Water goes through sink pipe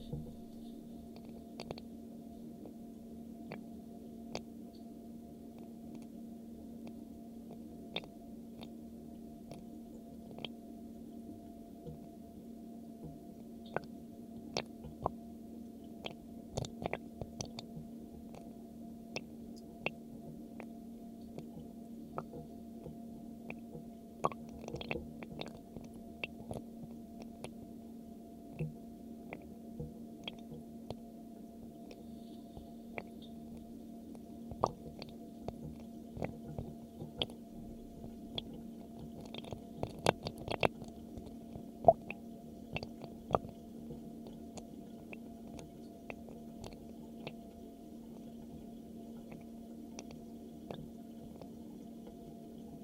0.0 1.8, 19.2 26.6, 31.9 52.8

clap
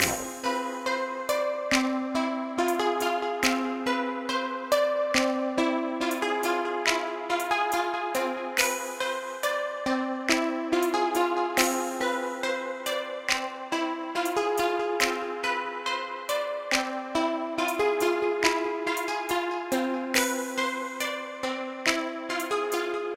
0.0 0.5, 1.7 1.9, 5.2 5.4

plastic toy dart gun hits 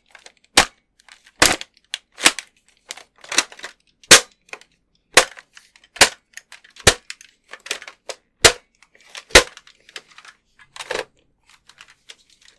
4.1 4.4, 5.1 5.4, 6.0 6.2, 6.8 7.1, 8.1 8.7, 9.3 9.6

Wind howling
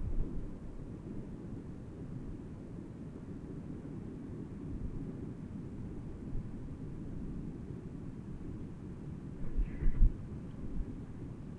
5.9 11.5

